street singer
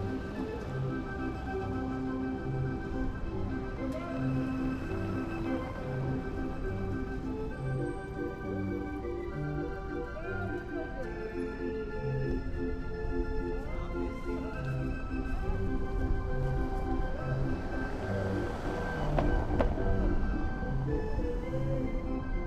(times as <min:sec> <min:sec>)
0:13.5 0:22.4